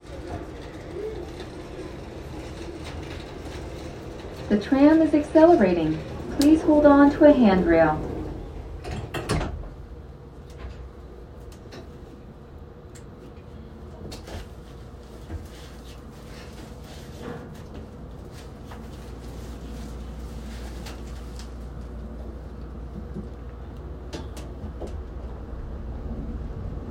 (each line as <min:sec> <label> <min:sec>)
0:00.0 background voices 0:08.8
0:00.0 tram 0:26.9
0:04.5 pre-recorded voice 0:08.4